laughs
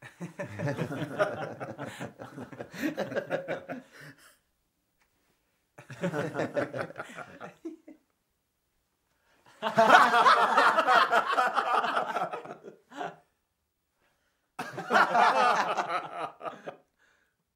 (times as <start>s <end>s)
0.0s 4.2s, 5.8s 8.0s, 9.6s 13.3s, 14.6s 16.9s